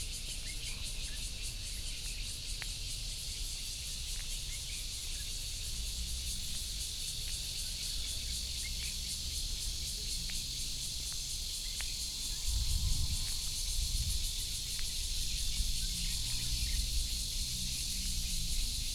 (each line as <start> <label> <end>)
0.0 Cicadas 18.9